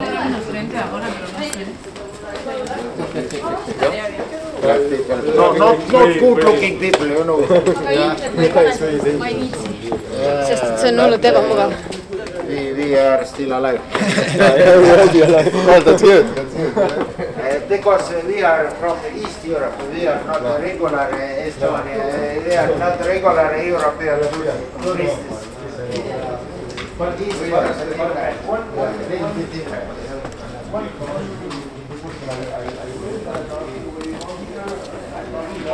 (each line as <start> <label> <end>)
0.0 wrong and right tourists 35.7